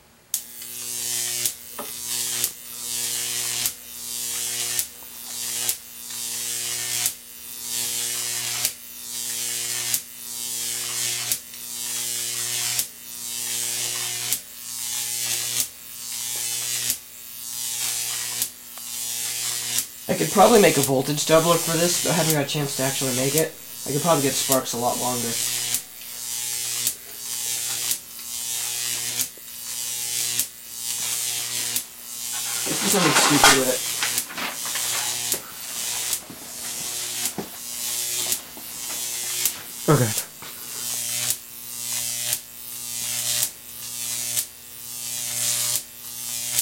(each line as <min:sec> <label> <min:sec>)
0:20.1 Jacob's Ladder 0:26.1
0:31.1 Jacob's Ladder 0:40.9